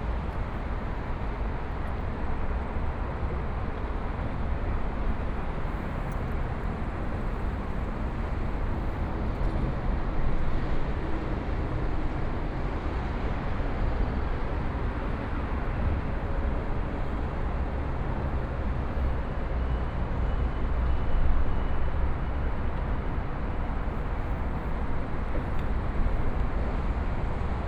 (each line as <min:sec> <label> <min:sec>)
0:11.3 Traffic Sound 0:27.6